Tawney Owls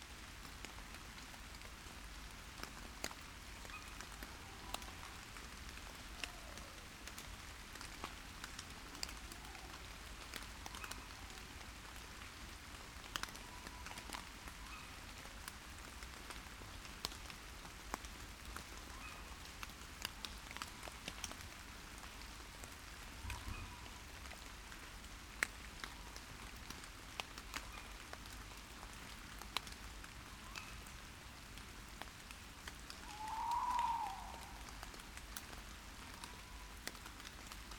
33.0 34.8

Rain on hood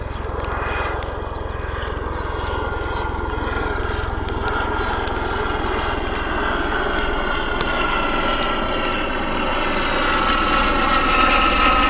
0.0 7.8

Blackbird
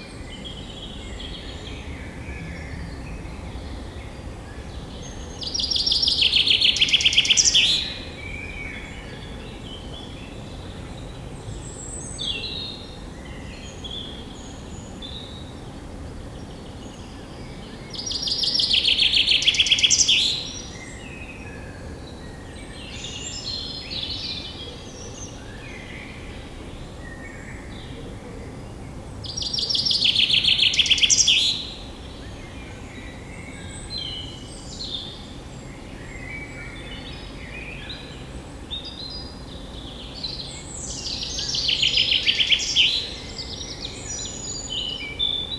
4.8 10.5, 16.6 26.4, 29.2 35.4, 36.0 45.5

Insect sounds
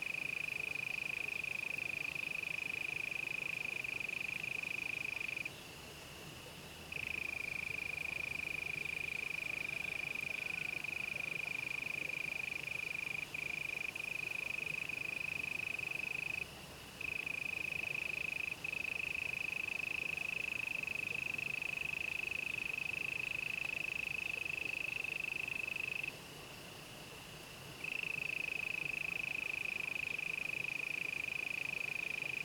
11.6 26.1

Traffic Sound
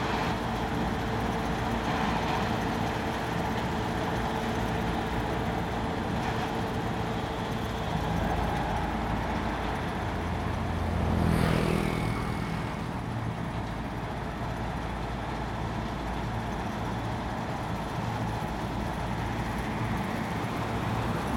7.4 14.9, 18.6 21.3

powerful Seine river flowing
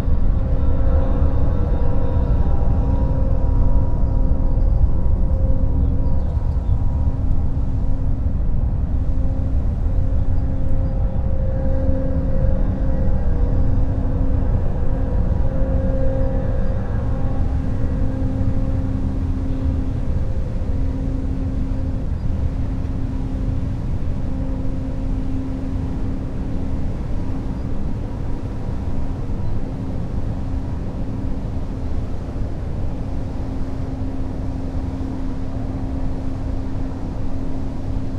14.0 38.1

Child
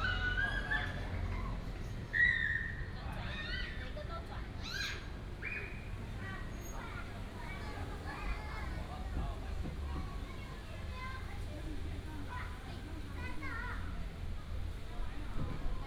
9.8 14.0

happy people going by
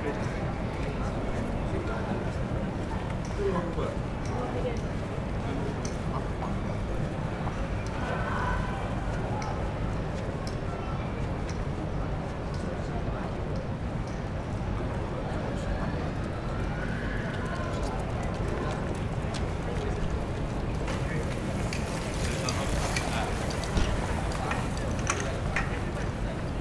16.9 26.6

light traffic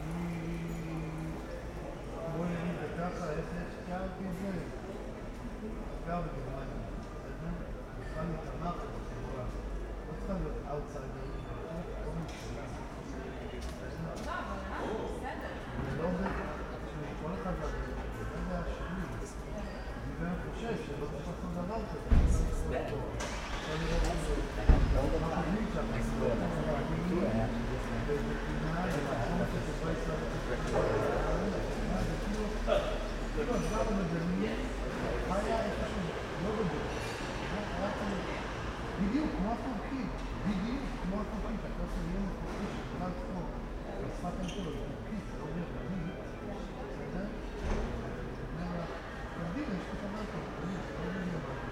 16.2 51.7

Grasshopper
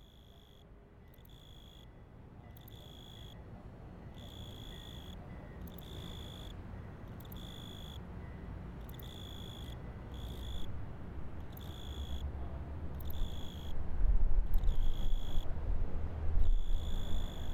1.2 1.9, 2.6 3.4, 4.2 6.5, 7.2 8.0, 8.9 10.7, 11.5 12.2, 13.0 13.8, 14.5 15.5, 16.4 17.5

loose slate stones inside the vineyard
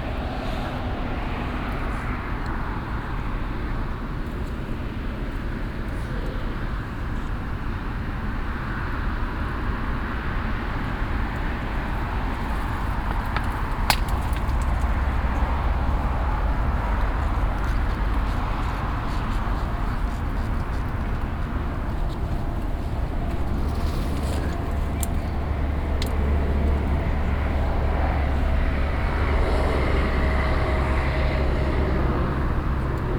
11.8 19.5

